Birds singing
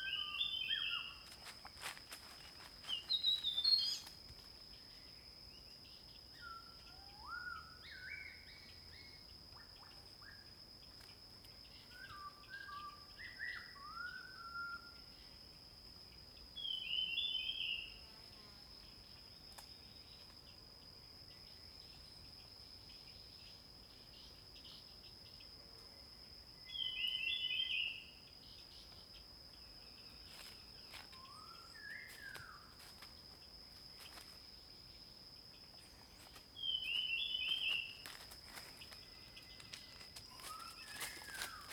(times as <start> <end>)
2.8 4.1, 26.7 29.2, 35.6 41.7